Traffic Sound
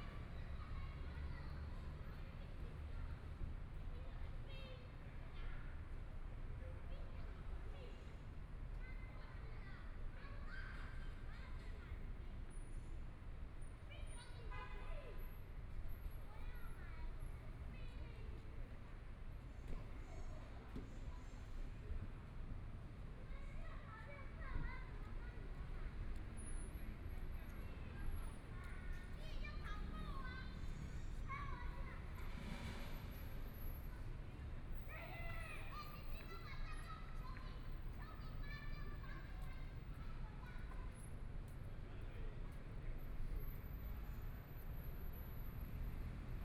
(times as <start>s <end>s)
10.7s 46.4s